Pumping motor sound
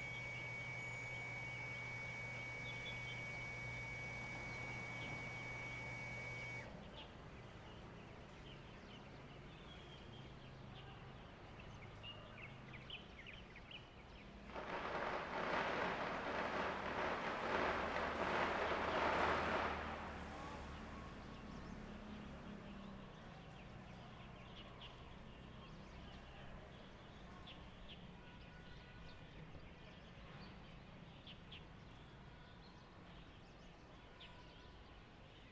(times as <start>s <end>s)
0.0s 6.7s, 14.6s 20.4s